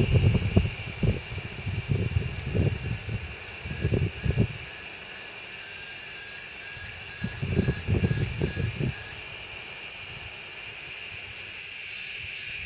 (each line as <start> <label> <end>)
0.0 insects (that I believe are cicadas) chirp loudly 12.6